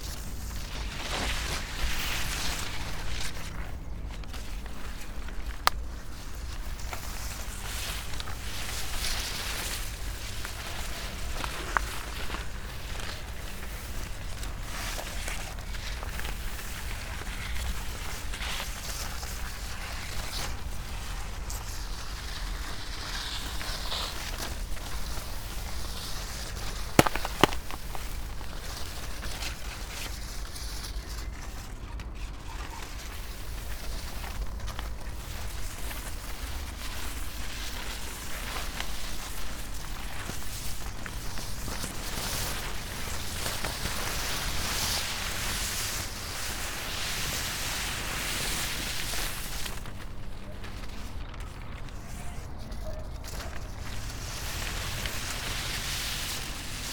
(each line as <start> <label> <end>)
0.0 long strips of paper over high grass 56.9
26.9 broken snail 28.2